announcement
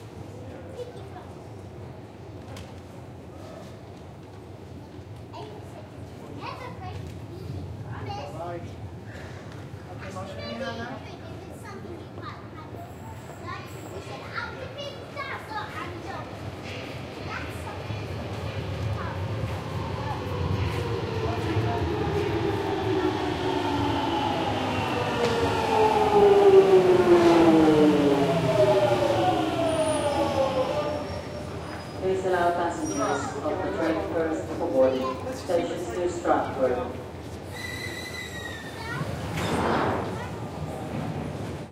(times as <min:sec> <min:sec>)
0:19.7 0:37.0